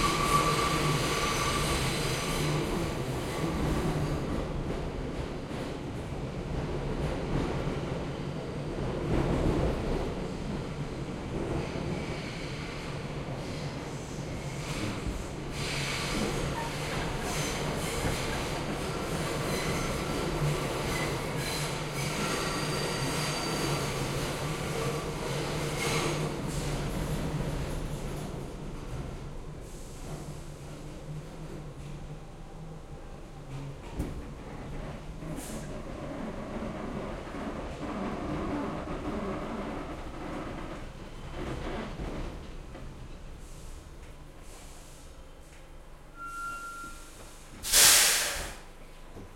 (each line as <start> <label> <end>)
0.0 Subway Train Arriving to Station 49.3
44.4 subway announcement 49.1